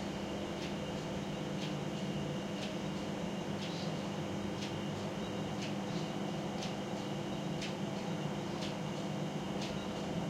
clock 0:00.4 - 0:10.2

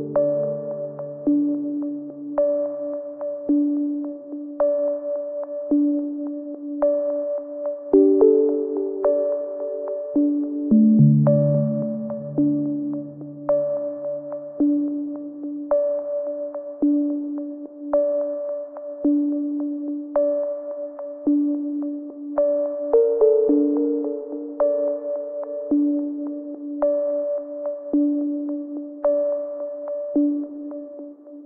synth pads 0:10.7 - 0:14.2

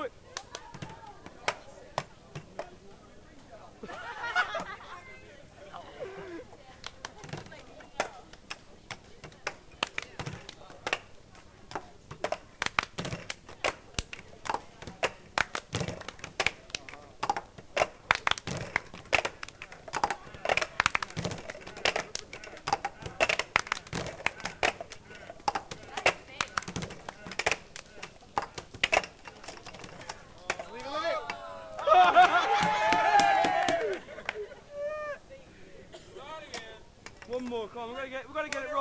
handclap 0:00.3 - 0:01.6
handclap 0:09.3 - 0:11.1
handclap 0:12.2 - 0:29.1
handclap 0:30.4 - 0:34.4

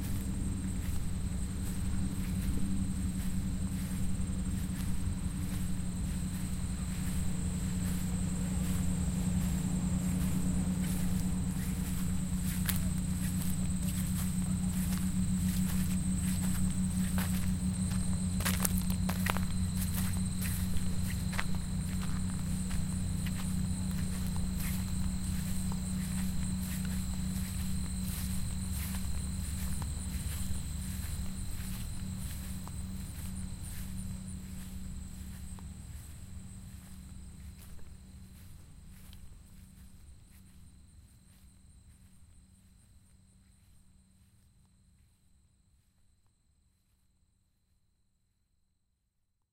airplane 0:00.0 - 0:46.1
cicadas 0:00.0 - 0:47.2
crickets 0:00.0 - 0:47.6
footsteps 0:00.0 - 0:42.8
voices 0:05.4 - 0:33.3

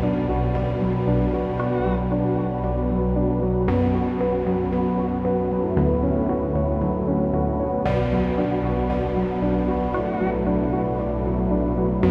piano 0:00.0 - 0:12.1

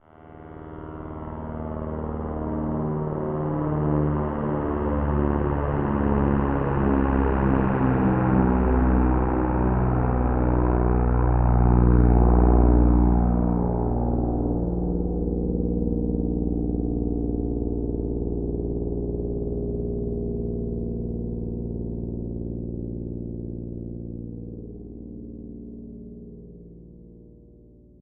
small airplane flying-by 0:00.0 - 0:26.8

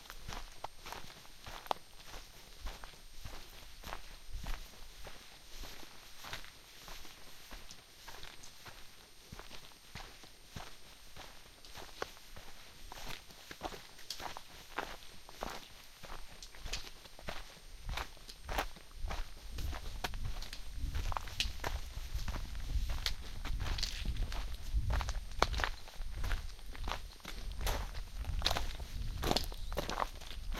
walking 0:00.0 - 0:30.5

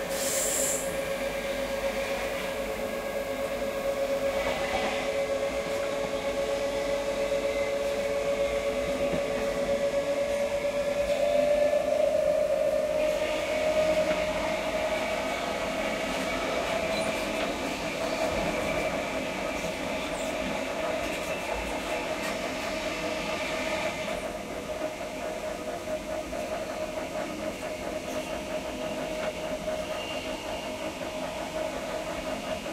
electric tilt train 0:00.0 - 0:32.7

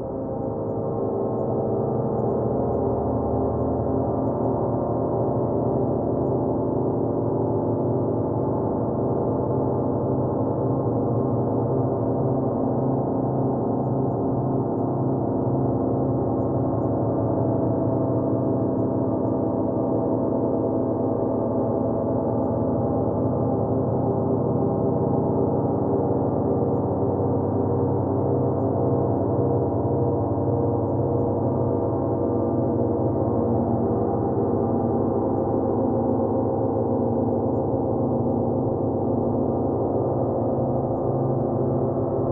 dark, slow ambient pad 0:00.0 - 0:42.3

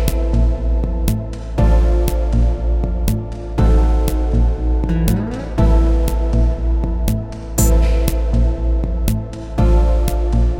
drum 0:00.0 - 0:10.2
percs 0:00.0 - 0:10.4
bass 0:00.0 - 0:10.5
guitar 0:00.0 - 0:10.5

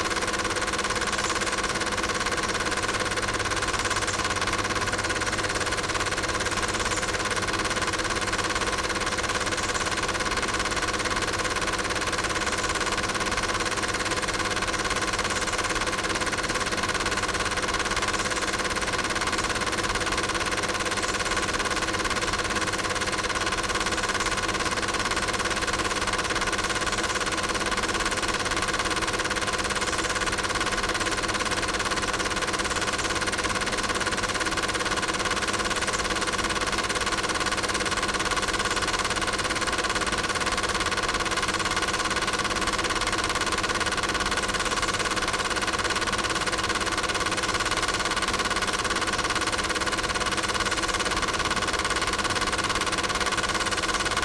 projector 0:00.0 - 0:54.2

